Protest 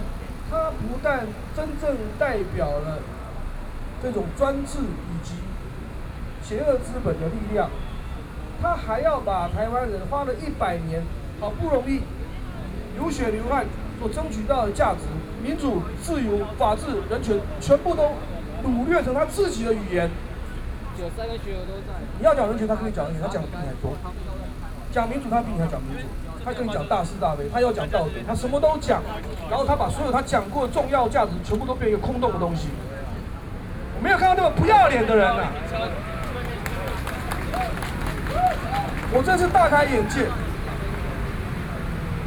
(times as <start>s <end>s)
12.6s 42.2s